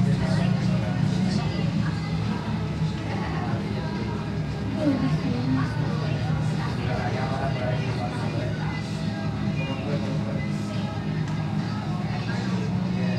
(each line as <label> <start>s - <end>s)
people voices 0.0s - 13.1s